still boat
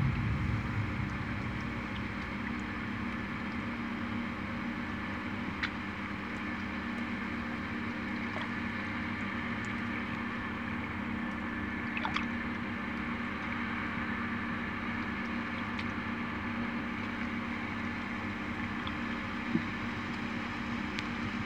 0.0 7.2

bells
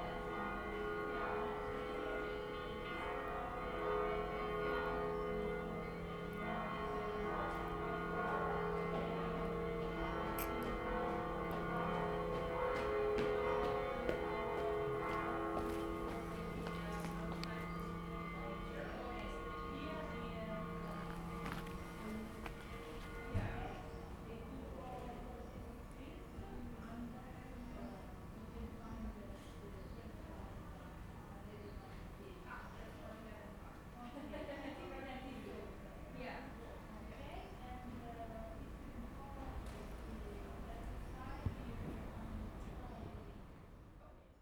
0.0 24.4

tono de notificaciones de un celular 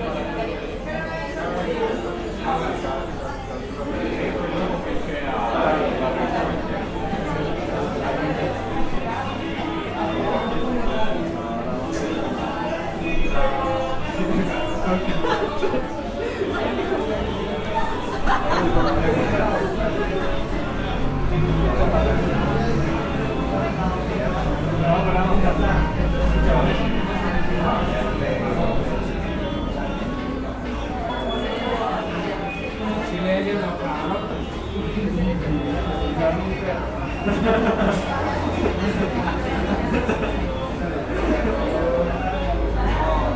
31.0 32.8

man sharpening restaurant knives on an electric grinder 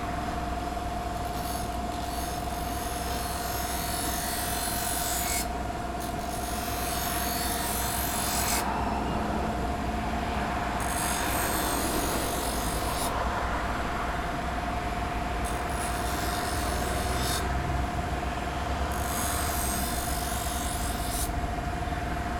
1.2 8.7, 10.8 13.2, 15.4 17.6, 18.9 21.4

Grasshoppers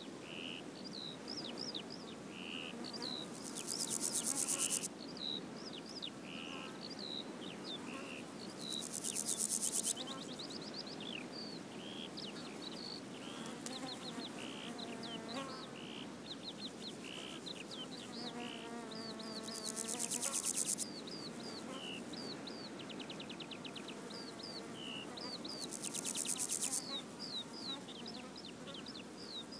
3.1 4.9, 8.5 10.6, 16.6 18.1, 19.0 22.3, 25.4 28.0

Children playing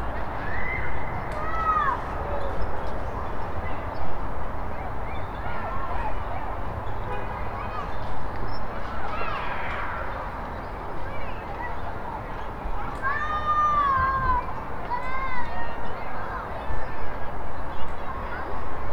0.2 2.7, 7.4 17.2

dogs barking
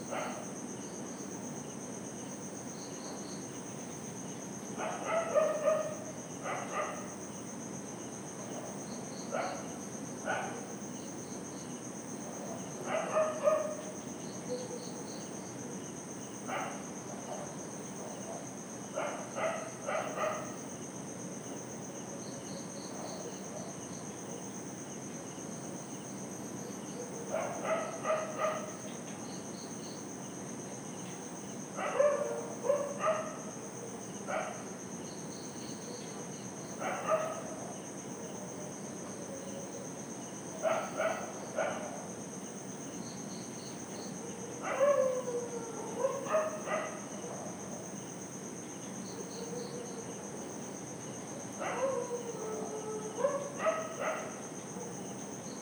4.8 7.1, 12.9 13.8, 16.5 20.6, 27.3 28.8, 31.8 33.5, 34.3 34.7, 36.8 37.6, 40.6 42.0, 44.3 47.6, 51.6 54.9

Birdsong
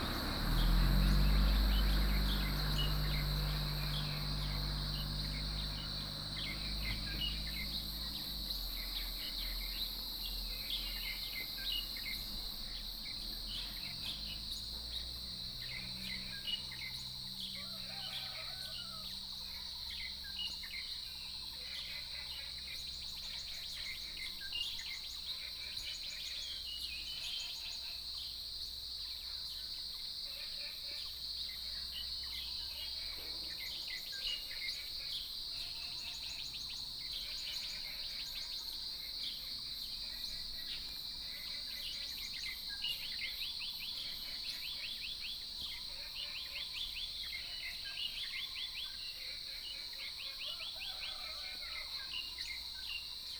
0.0 21.0

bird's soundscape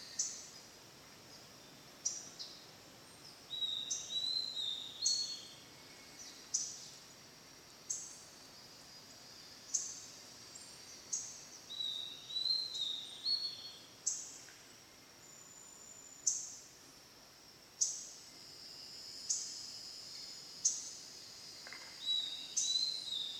0.0 0.7, 1.3 7.1, 7.8 16.7, 21.6 23.3

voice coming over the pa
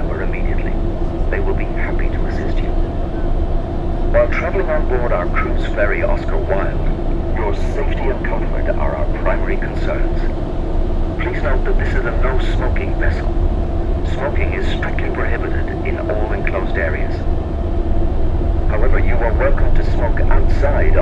0.0 2.9, 4.2 10.3, 11.2 13.2, 14.0 17.2, 18.7 21.0

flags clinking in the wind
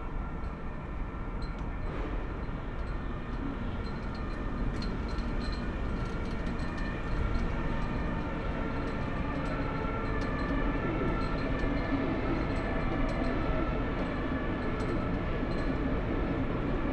0.2 13.5

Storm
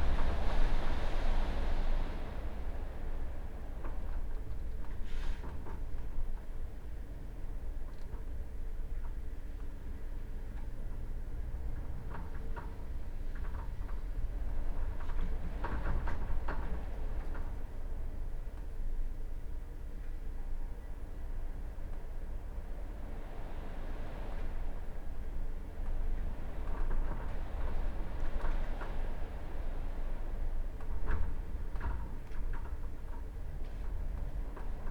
0.0 6.3, 22.4 34.9

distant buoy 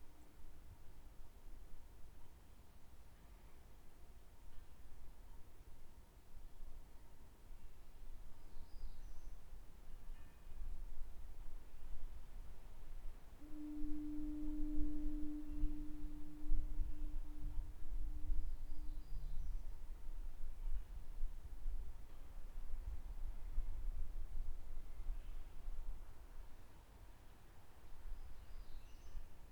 13.4 19.0

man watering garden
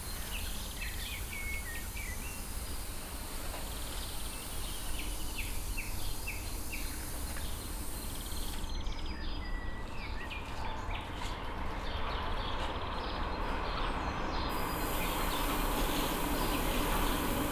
0.0 8.7, 14.5 17.5

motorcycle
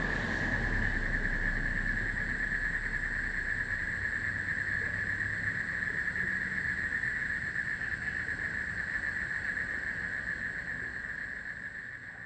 0.0 7.0

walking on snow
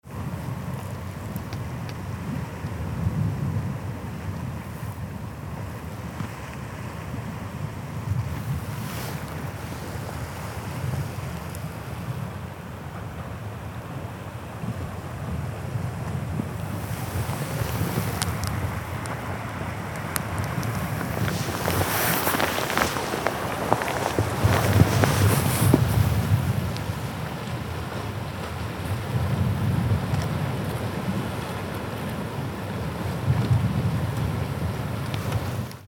8.3 10.6, 16.6 27.1

